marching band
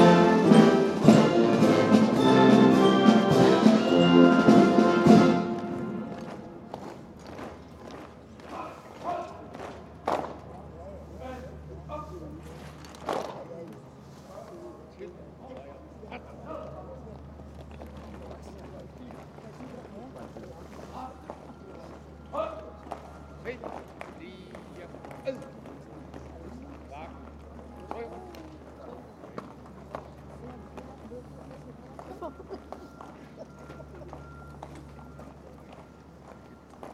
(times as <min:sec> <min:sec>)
0:00.0 0:07.5